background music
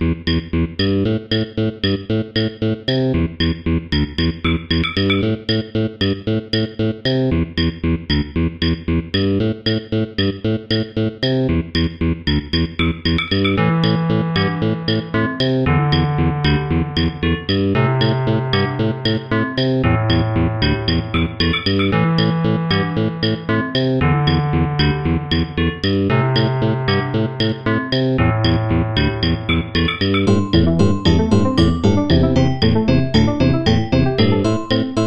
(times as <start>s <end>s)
12.8s 35.0s